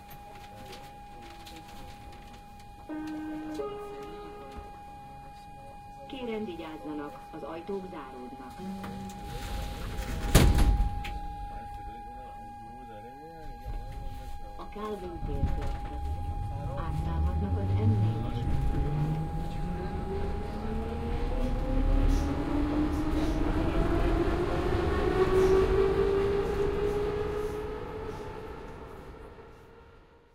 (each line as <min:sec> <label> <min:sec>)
0:00.0 Metro ride 0:30.3